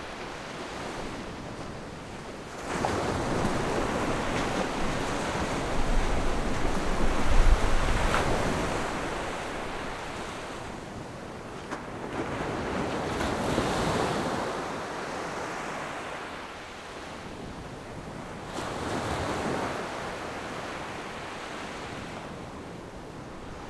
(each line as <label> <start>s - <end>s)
waves 0.0s - 23.6s